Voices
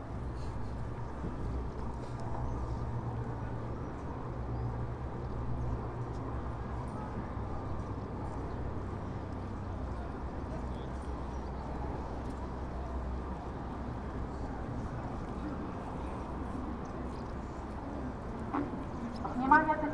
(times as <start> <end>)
6.1 19.9